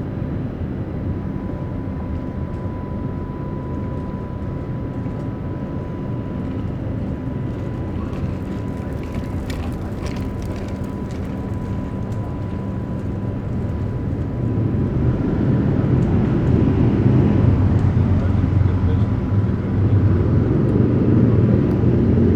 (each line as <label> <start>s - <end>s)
noise of the boat lift 1.2s - 20.9s